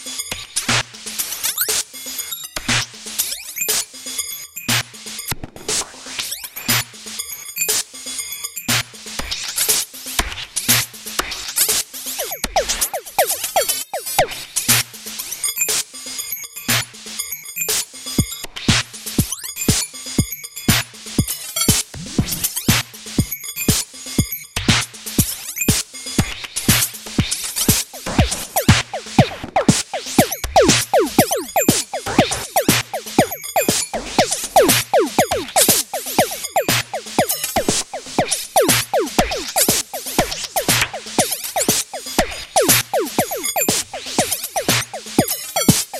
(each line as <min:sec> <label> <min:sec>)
0:12.2 drum 0:14.3
0:12.2 synthesizer 0:14.4
0:27.7 drum 0:45.9
0:27.7 synthesizer 0:45.9